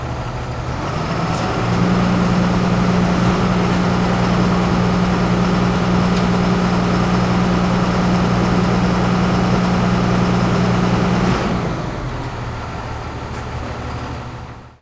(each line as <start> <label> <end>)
0.0 Garbage truck compacting garbage 14.8